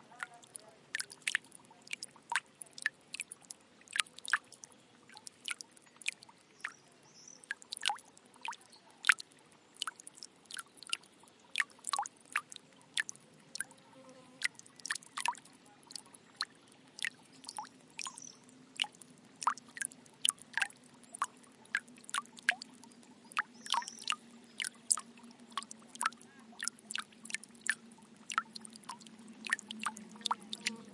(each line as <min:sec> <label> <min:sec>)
0:00.0 Slow Dropping Water 0:30.9